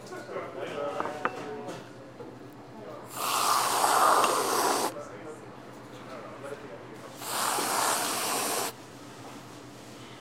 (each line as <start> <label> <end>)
3.1 barista shooting whipped cream onto the top of a drink 4.9
7.2 barista shooting whipped cream onto the top of a drink 8.7